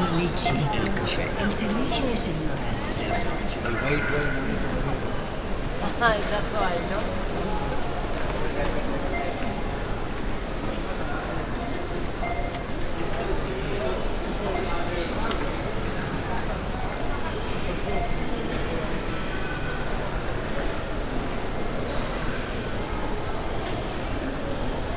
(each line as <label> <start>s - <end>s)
anouncement 0.0s - 4.9s
people passing by and talking in different languages 0.0s - 24.9s
beeps of the cash machines 9.0s - 9.8s
beeps of the cash machines 11.6s - 12.9s